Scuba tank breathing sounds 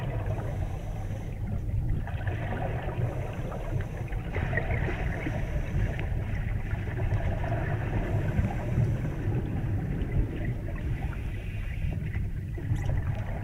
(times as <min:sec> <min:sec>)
0:00.1 0:01.7, 0:02.8 0:06.6, 0:07.4 0:12.2